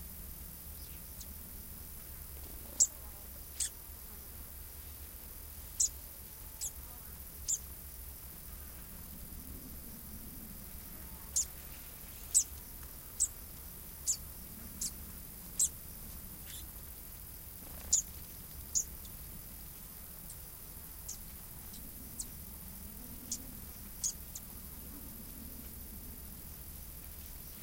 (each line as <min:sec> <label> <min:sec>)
0:00.0 insects 0:27.6
0:02.3 Fan-tailed Warbler (Cisticola juncidis) singing and fluttering 0:03.8
0:05.8 Fan-tailed Warbler (Cisticola juncidis) singing and fluttering 0:07.7
0:11.0 Fan-tailed Warbler (Cisticola juncidis) singing and fluttering 0:13.4
0:14.0 Fan-tailed Warbler (Cisticola juncidis) singing and fluttering 0:22.5
0:21.5 airplane overheads 0:26.7
0:23.1 Fan-tailed Warbler (Cisticola juncidis) singing and fluttering 0:24.6